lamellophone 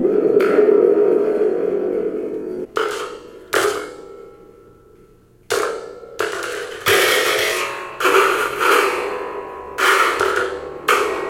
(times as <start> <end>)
0.0 2.7